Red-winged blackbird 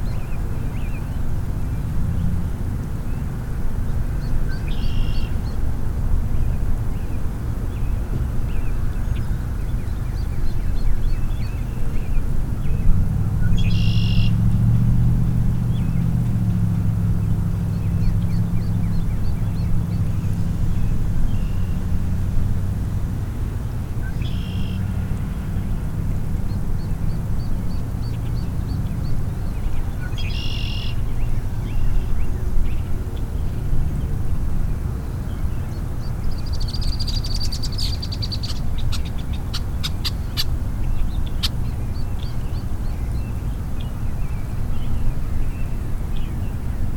4.2s 5.6s, 6.4s 14.5s, 24.0s 33.6s, 35.1s 46.8s

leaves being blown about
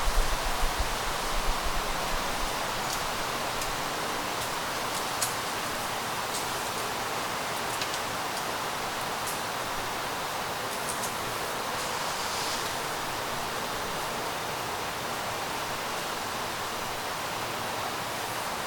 10.7s 14.3s

